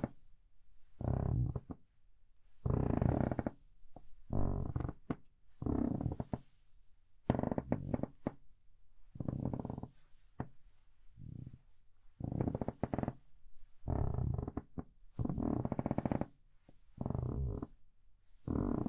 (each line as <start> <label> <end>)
2.7 Creaking Floorboard 3.6
4.3 Creaking Floorboard 6.4
7.3 Creaking Floorboard 8.4
9.2 Creaking Floorboard 10.5
12.2 Creaking Floorboard 13.2
13.9 Creaking Floorboard 16.3
17.0 Creaking Floorboard 17.7
18.5 Creaking Floorboard 18.8